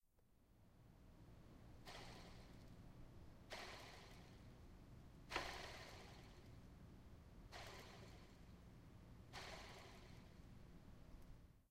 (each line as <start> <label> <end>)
1.8 Manually whirling the a bike's pedals 2.8
3.4 Manually whirling the a bike's pedals 4.6
5.3 Manually whirling the a bike's pedals 6.7
7.5 Manually whirling the a bike's pedals 8.6
9.2 Manually whirling the a bike's pedals 10.6